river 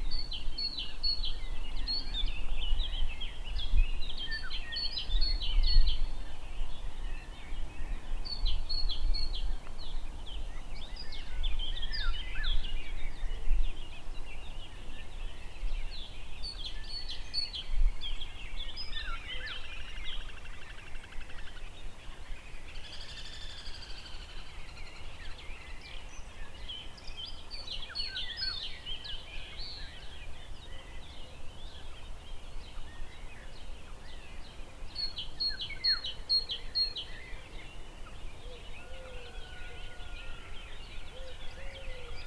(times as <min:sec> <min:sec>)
0:13.8 0:42.2